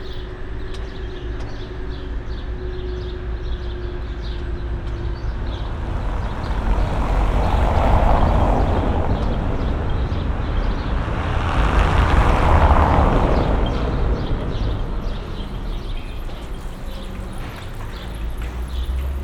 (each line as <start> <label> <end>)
0.0 construction works 19.2